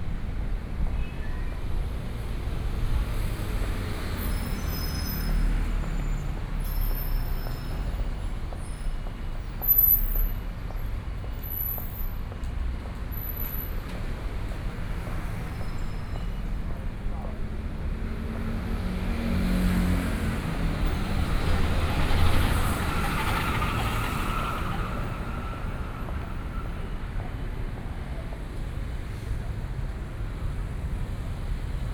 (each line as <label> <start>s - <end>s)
Traffic Sound 0.0s - 31.9s